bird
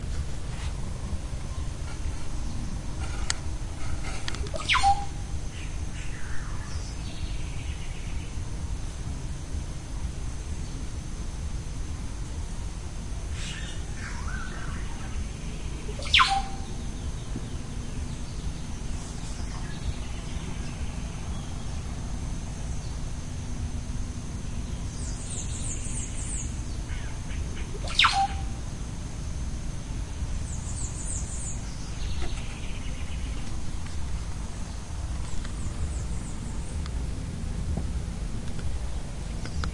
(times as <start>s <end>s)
1.5s 8.3s, 13.3s 21.9s, 24.8s 28.6s, 30.5s 36.8s